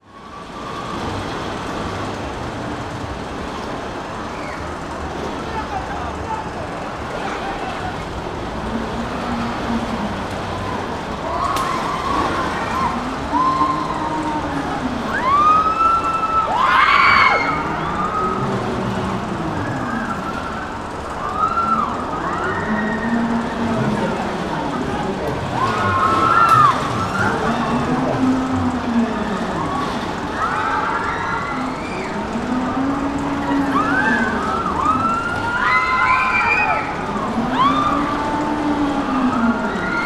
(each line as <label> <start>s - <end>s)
rollercoaster 0.0s - 40.0s